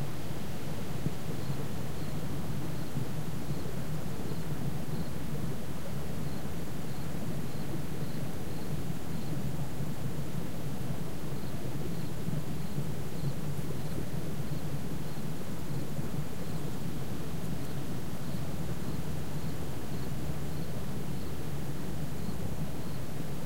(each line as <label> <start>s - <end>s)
water 0.0s - 23.4s
insects 1.2s - 10.4s
insects 11.0s - 23.4s